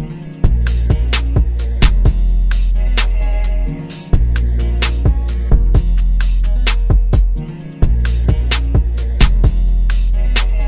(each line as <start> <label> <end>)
0.0 bass 10.6
4.8 snare 5.2
6.7 snare 7.0
8.4 snare 9.4
10.4 snare 10.6